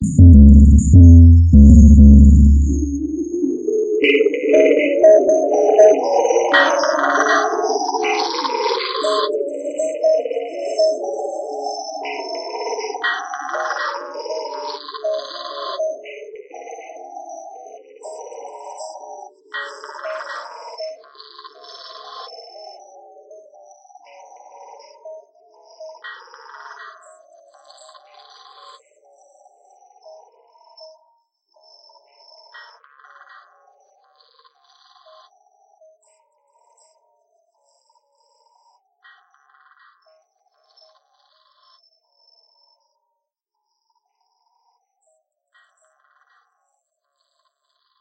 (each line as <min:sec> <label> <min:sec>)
0:00.0 drum synth 0:03.4